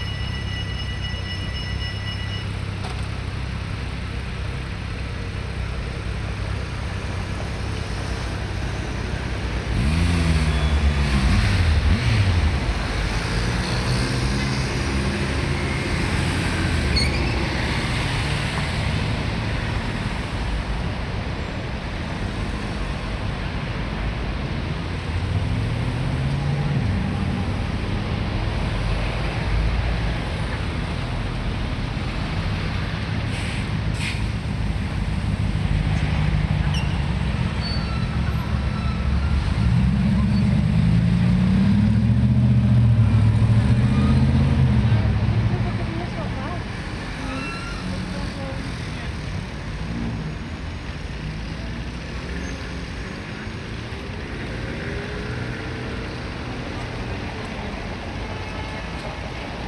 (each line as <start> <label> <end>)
0.0 trams 9.8
0.0 cars 59.6
2.6 motorcycles 20.9
22.6 motorcycles 59.6
42.7 trams 59.6